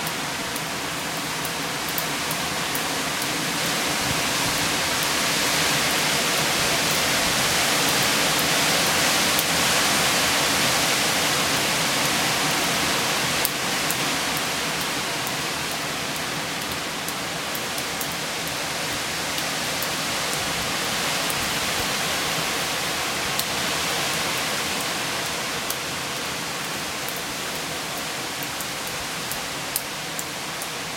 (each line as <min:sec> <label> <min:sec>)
0:00.0 Dripping of rain from the eves of the house 0:30.9
0:00.0 Wind in the Trees 0:30.9